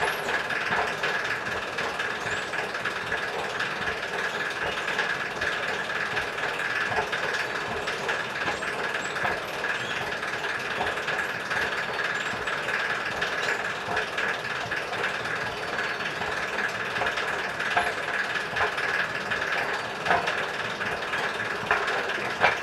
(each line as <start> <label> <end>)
0.0 squeaking and gabbling moving staircase 22.6